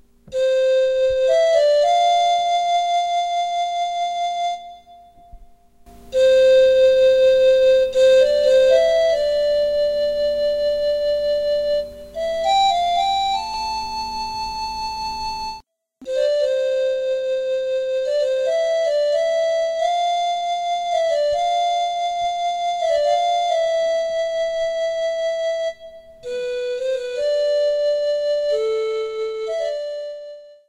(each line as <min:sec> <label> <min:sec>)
0:00.3 melody wit a panflute 0:05.5
0:06.1 melody wit a panflute 0:30.6